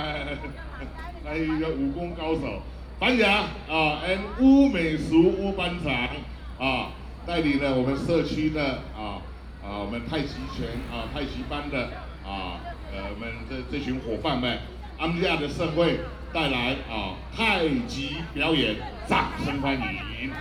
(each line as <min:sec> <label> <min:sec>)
0:00.0 Community party 0:20.4
0:00.0 traffic sound 0:20.4